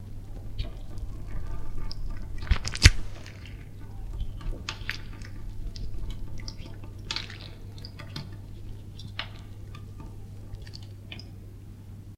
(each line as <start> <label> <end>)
0.6 break 7.6